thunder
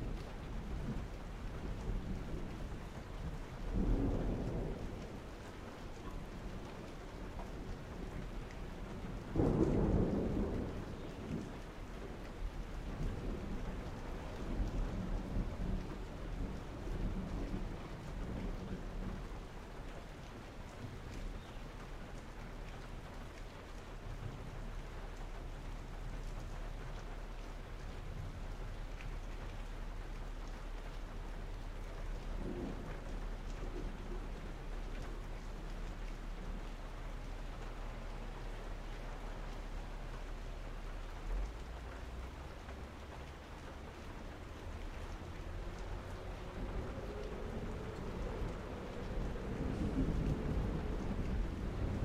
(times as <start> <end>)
0.0 19.6, 31.9 36.6, 45.7 52.0